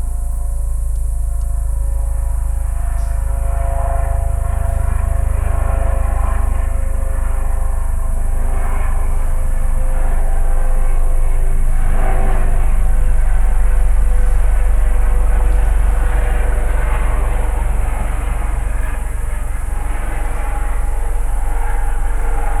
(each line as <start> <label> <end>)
0.0 Propellerplane passes over 22.6